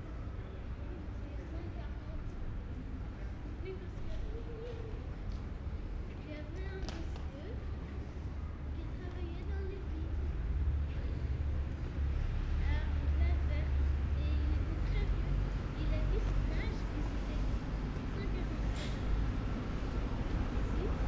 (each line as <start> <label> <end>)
0.0 bus 21.0
6.1 tram 21.0